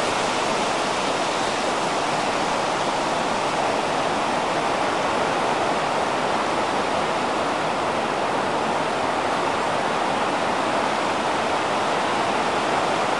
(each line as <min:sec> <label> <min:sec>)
0:00.0 Wind blowing through cottonwood trees 0:13.1